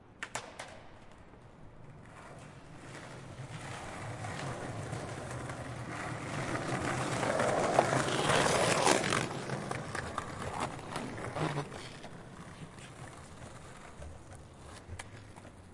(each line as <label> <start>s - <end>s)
skate boards 0.1s - 15.7s